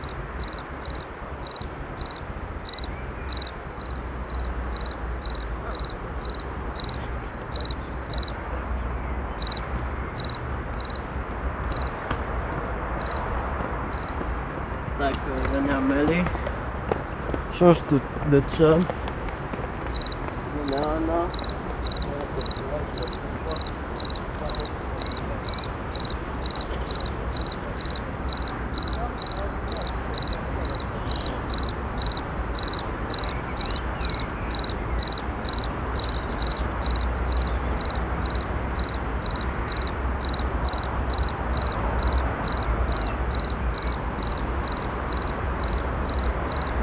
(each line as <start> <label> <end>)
0.0 evening crickets 46.8